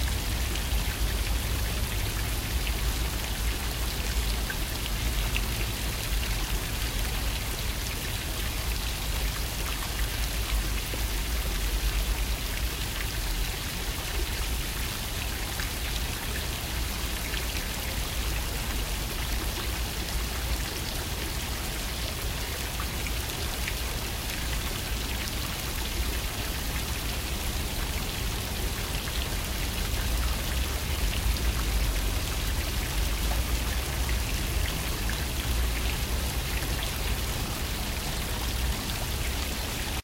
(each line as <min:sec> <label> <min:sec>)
0:00.0 waterpond 0:40.0